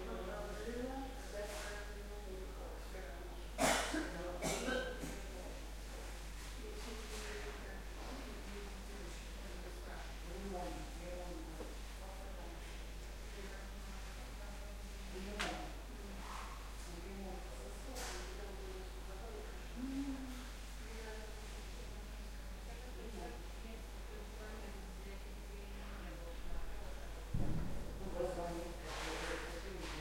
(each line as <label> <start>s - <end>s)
old ladies & gents calmly talking 0.0s - 30.0s